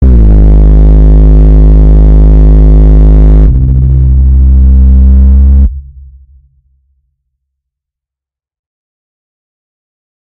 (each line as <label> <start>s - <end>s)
Tripod horn 0.0s - 5.9s